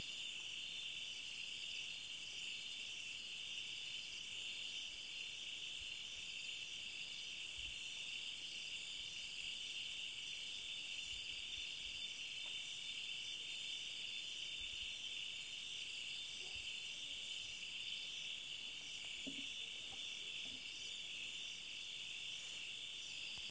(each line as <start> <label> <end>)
0.0 cicadas 23.5